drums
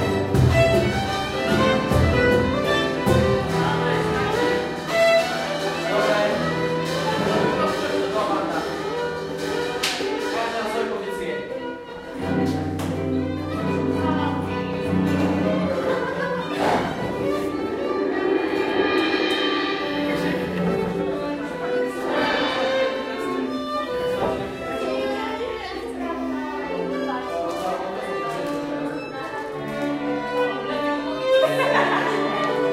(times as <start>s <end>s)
0.0s 10.6s, 12.2s 24.9s